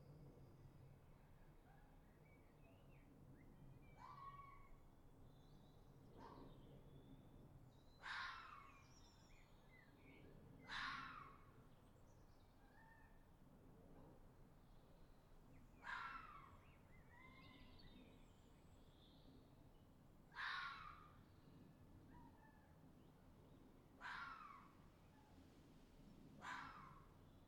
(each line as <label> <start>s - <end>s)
Fox Calls 8.0s - 8.6s
Fox Calls 10.7s - 11.3s
Fox Calls 15.8s - 16.5s
Fox Calls 20.3s - 21.1s
Fox Calls 24.0s - 24.7s
Fox Calls 26.4s - 27.0s